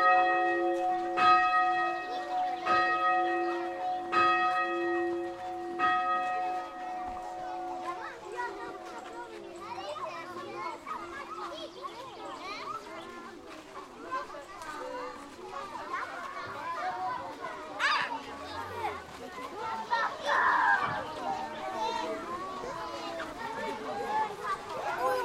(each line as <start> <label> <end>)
0.0 Church bells 9.8